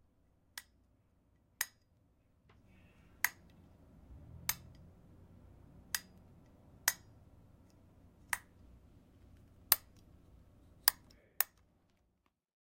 Bedside Lamp Switch On/Off 0:03.2 - 0:03.6
Bedside Lamp Switch On/Off 0:04.2 - 0:04.9
Bedside Lamp Switch On/Off 0:05.8 - 0:08.6
Bedside Lamp Switch On/Off 0:09.7 - 0:10.1
Bedside Lamp Switch On/Off 0:10.8 - 0:11.6

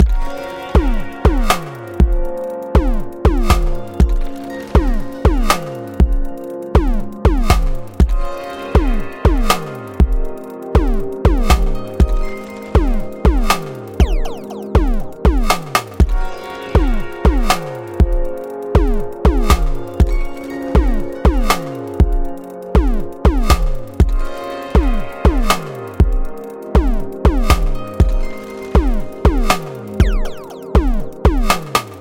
drums 0:00.0 - 0:32.0
pleasant melody 0:08.2 - 0:19.4
click 0:17.2 - 0:32.0

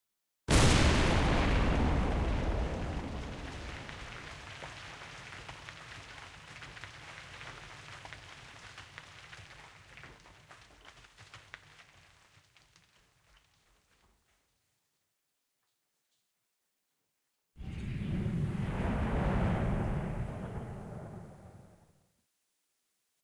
blast mining 0:00.5 - 0:05.3

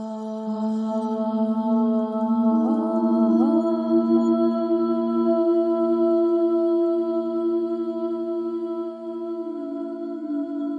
Three layers of me singing 0:00.2 - 0:10.7

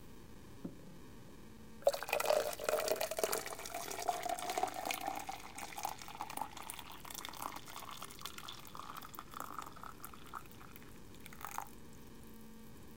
Pouring hot water into a cup 0:01.8 - 0:11.8

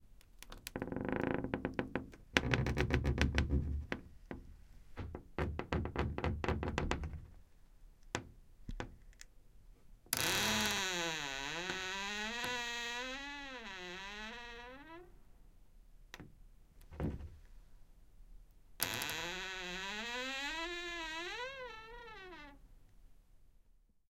wardrobe's wooden door opening 0:18.9 - 0:22.6

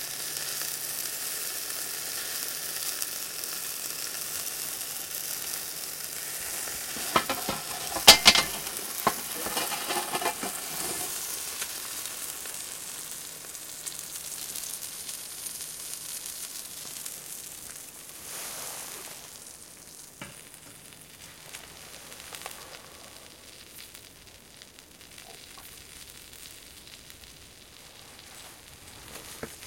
sausages sizzling on the barbecue 0:00.0 - 0:29.6
grill tongs clatter 0:06.3 - 0:11.7
grating off the BBQ 0:06.4 - 0:11.3

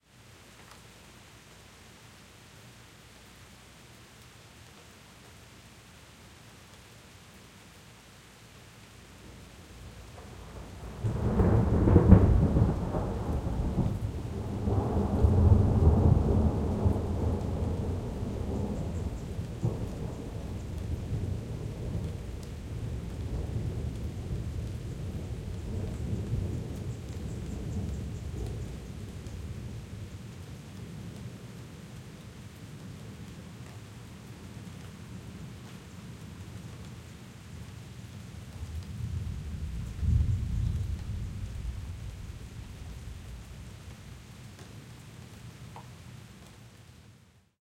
light rain 0:00.0 - 0:47.6
thunder 0:10.1 - 0:29.5
thunder 0:38.6 - 0:43.5

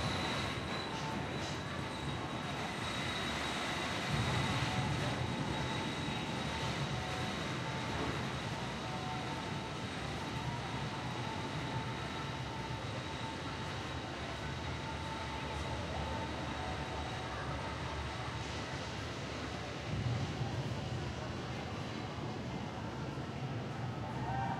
wooden roller coaster 0:00.0 - 0:13.3

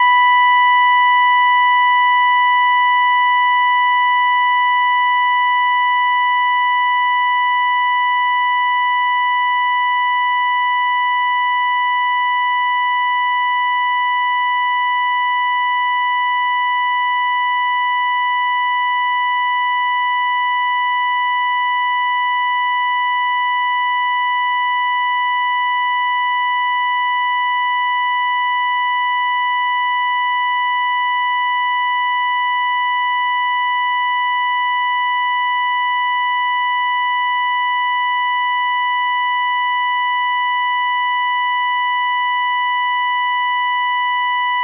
Electrocardiogram dead tone 0:00.0 - 0:44.6

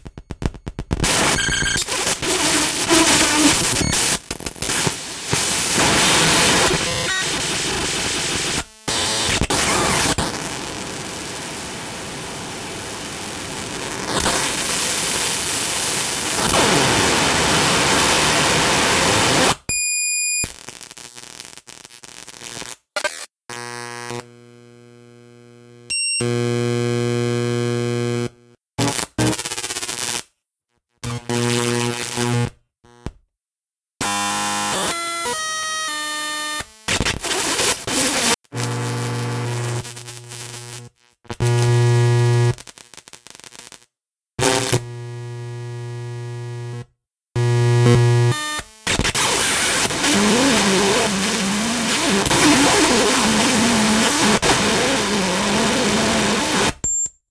beep 0:56.8 - 0:57.2

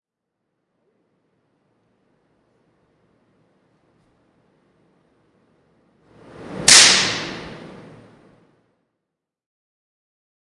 spark from a electrical discharge 0:06.4 - 0:07.6

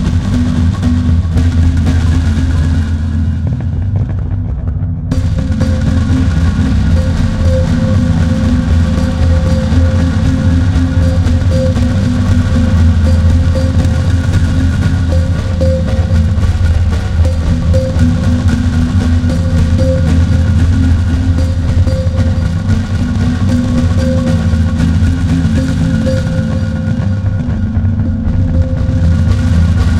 drums 0:00.0 - 0:29.9

